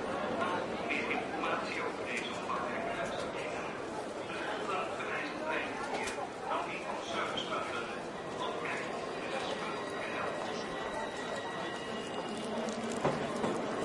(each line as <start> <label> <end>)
0.0 crowd 13.8
0.0 train 13.8